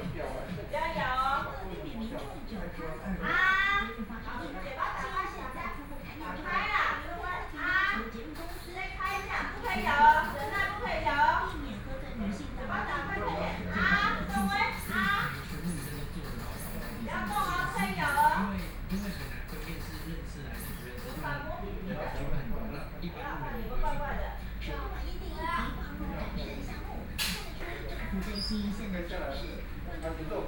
Physicians and the public dialogue 0:00.0 - 0:30.4
TV sound 0:00.0 - 0:30.4

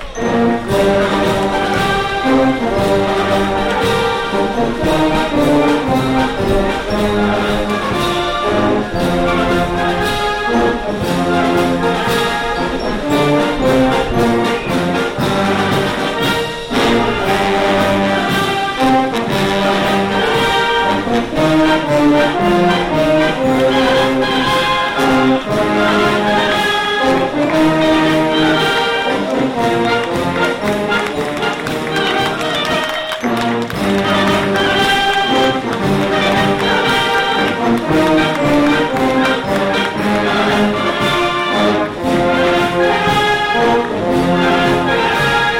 brass and natural fade 0:00.0 - 0:45.5

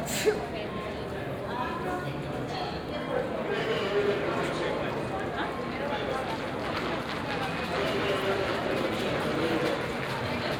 assistants talking to visitors via small lo-fi speakers 0:00.0 - 0:10.5

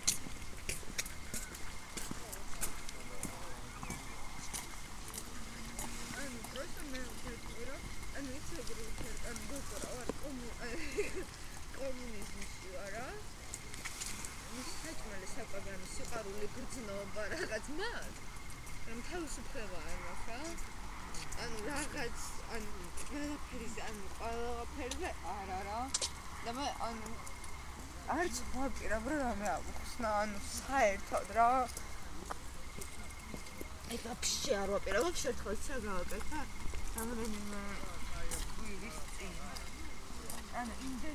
bicycle passes 0:00.0 - 0:41.1
crickets chirping 0:00.0 - 0:41.1
warm wind rustles dry leaves 0:00.0 - 0:41.1

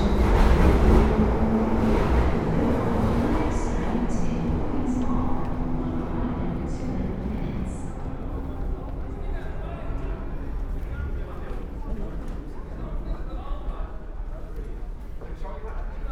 journey on the London Underground 0:00.0 - 0:16.1

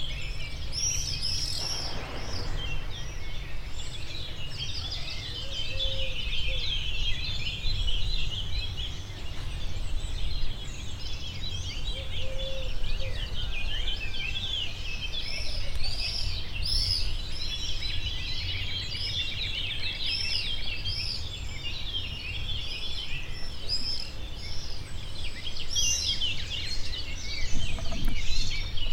bird 0:00.0 - 0:28.9

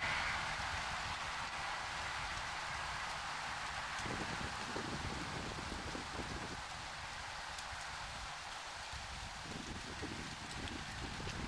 Leaf in the Wind 0:00.0 - 0:11.4

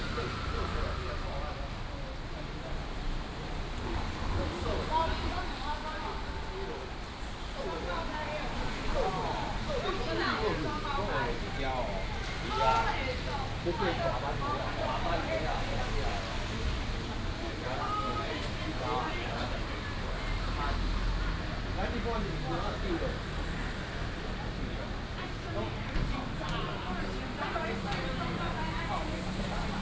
Traffic sound 0:00.0 - 0:29.8

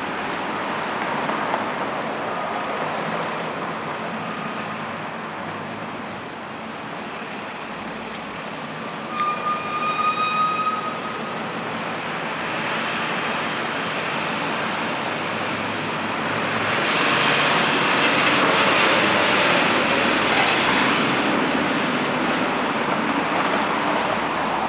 frigid air passing by the buildings 0:00.0 - 0:24.6
noises generated by passing vehicles 0:00.0 - 0:24.6
pedestrians walking 0:00.0 - 0:24.6

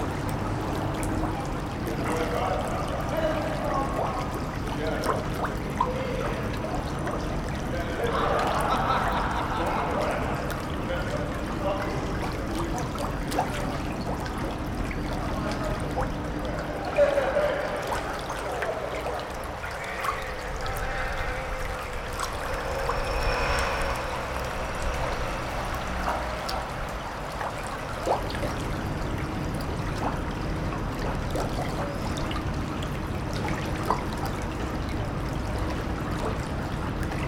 Brook 0:00.0 - 0:37.2

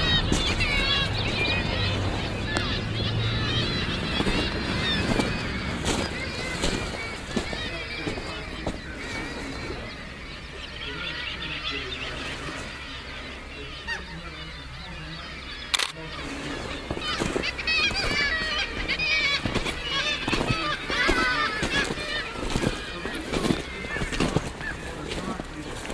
thousends of Kittiwakes 0:00.0 - 0:25.9

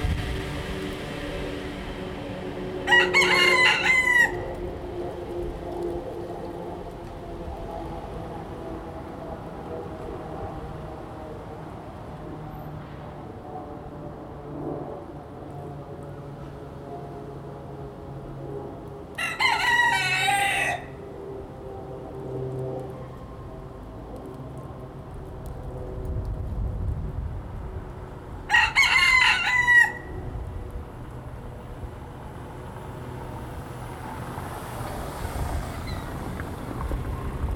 scooter 0:00.0 - 0:02.8
car 0:00.0 - 0:03.3
train going by 0:00.0 - 0:11.6
plane flying 0:00.0 - 0:37.5
wind 0:00.0 - 0:37.5
car 0:29.9 - 0:37.5
scooter 0:31.6 - 0:37.5

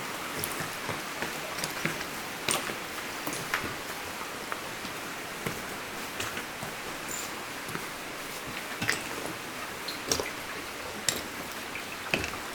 I'm quietly walking, climbing the shaft 0:00.0 - 0:12.5
water flows everywhere 0:00.0 - 0:12.5

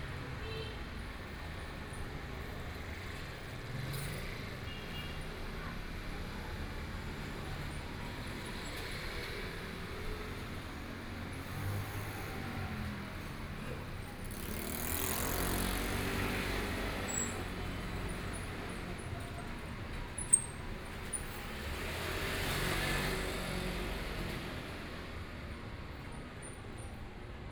Traffic Sound 0:00.0 - 0:27.5

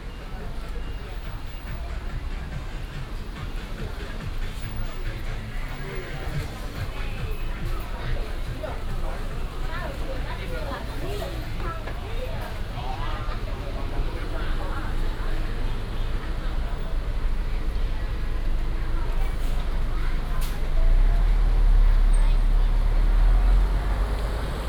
Walking in the street 0:00.0 - 0:24.6

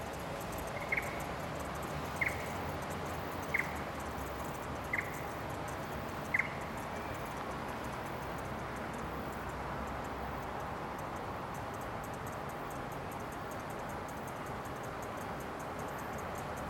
Cicadas 0:00.0 - 0:16.6
traffic 0:00.0 - 0:16.6
Birds 0:00.6 - 0:01.3
Birds 0:02.0 - 0:02.6
Birds 0:03.2 - 0:03.8
Birds 0:04.8 - 0:05.4
Birds 0:06.2 - 0:07.3

